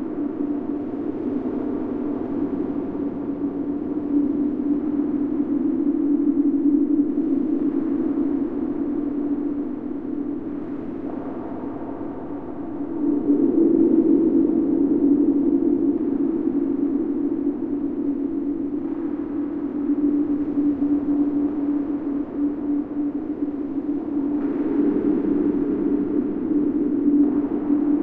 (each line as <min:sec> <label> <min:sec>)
0:00.0 DEEP SPACE DRONE 0:28.0